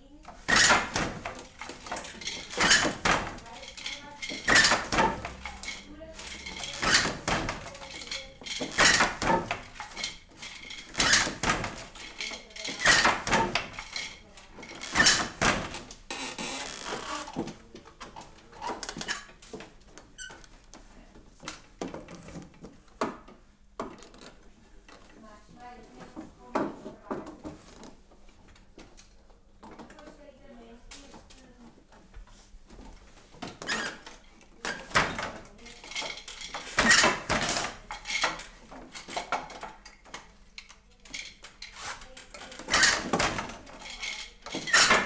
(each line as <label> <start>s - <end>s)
Working loom 0.3s - 17.6s
Working loom 33.7s - 39.8s
Working loom 41.0s - 45.0s